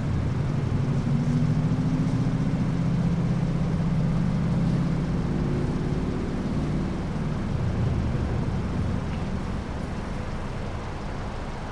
0.0s traffic-related 11.7s

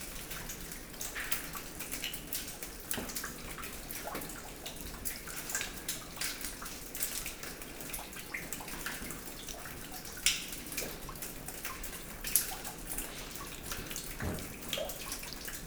0.0s raining hard inside 15.6s

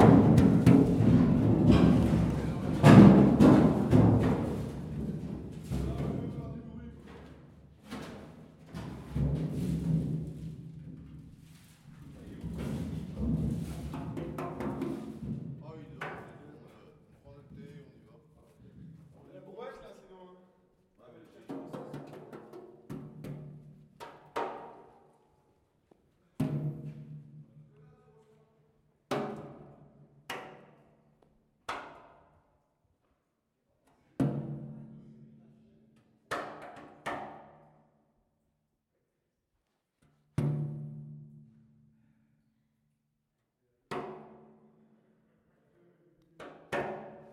0.0s Playing with an empty and rusty Oil drum 6.1s

